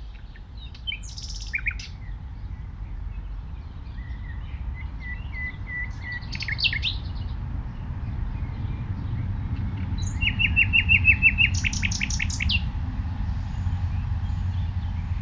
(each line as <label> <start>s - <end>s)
blackbird 0.0s - 12.7s
nightingale is sings very close by 0.0s - 3.2s
nightingale is sings very close by 3.8s - 7.3s
nightingale is sings very close by 9.4s - 12.7s